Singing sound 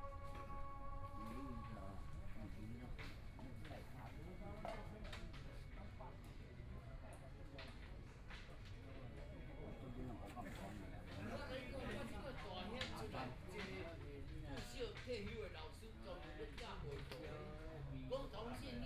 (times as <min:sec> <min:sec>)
0:00.0 0:02.2